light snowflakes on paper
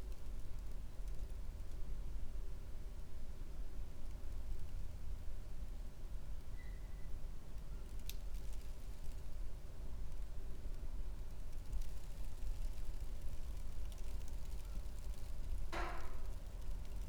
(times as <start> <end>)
7.4 17.0